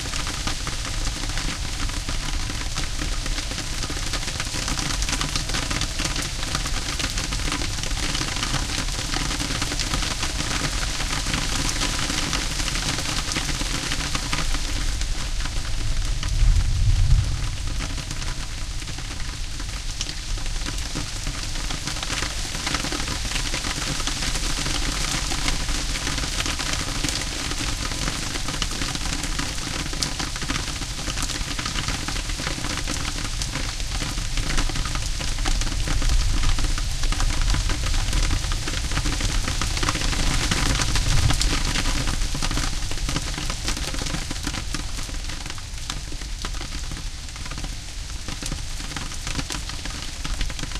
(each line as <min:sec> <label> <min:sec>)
0:00.0 heavy rain 0:50.7
0:00.0 wind blowing in the leafs 0:50.7
0:15.7 magnificent thunder 0:18.6